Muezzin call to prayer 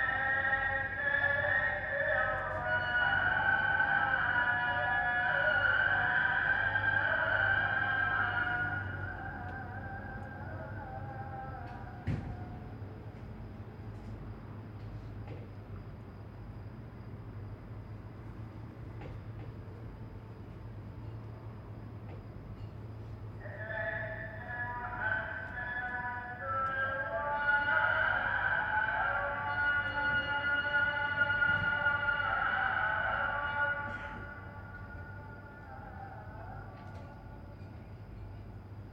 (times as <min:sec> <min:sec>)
0:00.0 0:13.3, 0:23.4 0:37.6